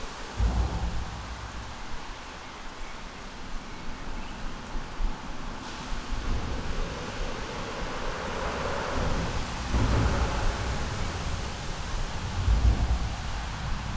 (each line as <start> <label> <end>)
0.0 rain 13.9
0.0 traffic under bridge 13.9